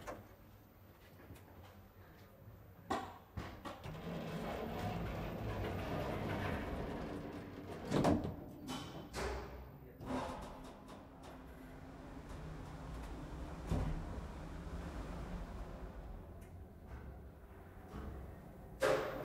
3.8s Elevator sound 8.4s
10.0s Elevator sound 19.2s

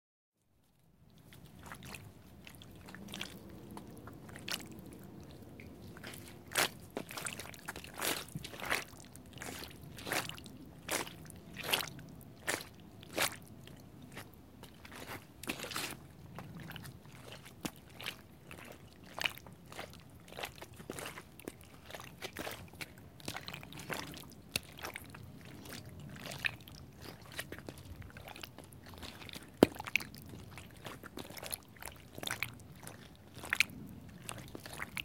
5.9s Stepping on Stone immersed in mud 13.4s

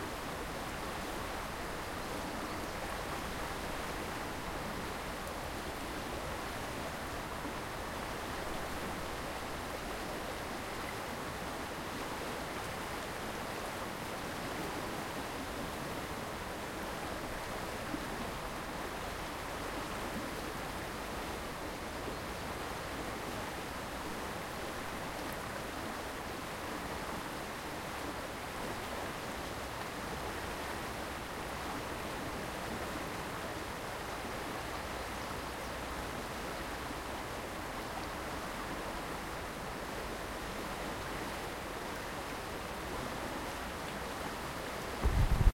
0.0s Wind in trees 45.5s
0.0s river 45.5s

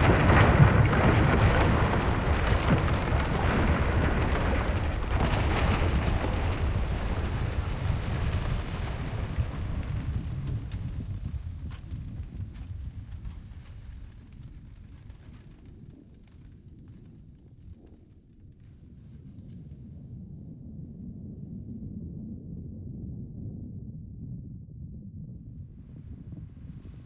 0.0s collapsing tower 16.5s

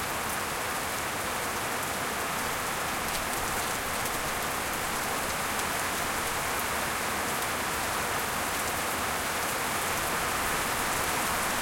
0.0s heavy rain 11.6s

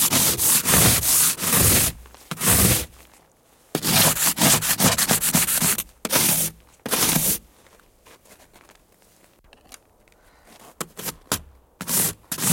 0.0s ice scraper, scraping 2.9s
3.8s ice scraper, scraping 7.4s
10.9s ice scraper, scraping 12.5s

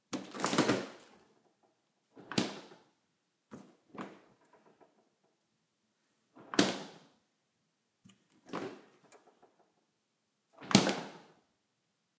0.1s opening and closing a refrigerator door 5.2s
6.3s opening and closing a refrigerator door 7.1s
8.1s opening and closing a refrigerator door 9.7s
10.6s opening and closing a refrigerator door 11.4s

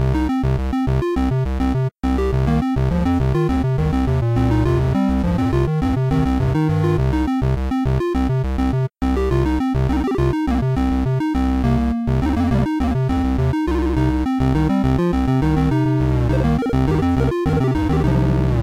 0.0s Chiptune 18.6s

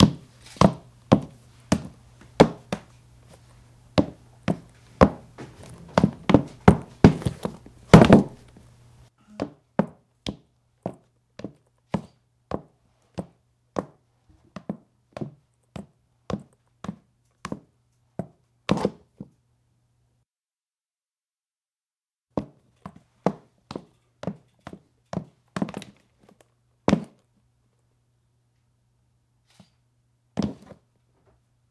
0.0s High-heeled shoe heavy weight 2.9s
4.0s High-heeled shoe heavy weight 8.6s
26.9s High-heeled shoe heavy weight 27.2s

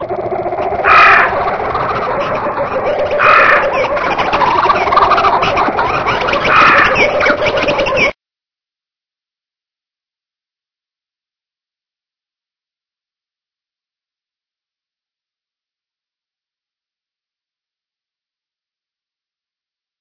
0.0s jungle birds 8.2s

